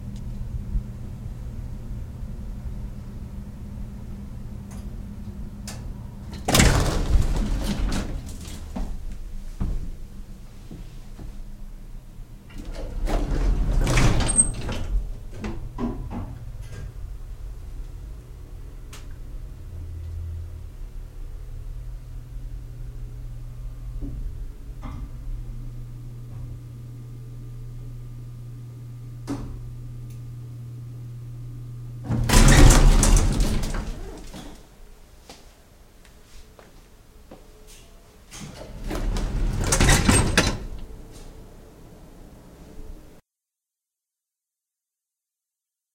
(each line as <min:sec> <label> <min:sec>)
0:03.9 elevator 0:11.5
0:05.7 doors 0:11.4
0:12.4 doors 0:17.1
0:12.4 elevator 0:21.0
0:32.0 elevator 0:34.6
0:32.0 doors 0:34.7
0:35.2 steps 0:37.8
0:37.3 doors 0:41.4
0:37.8 elevator 0:43.0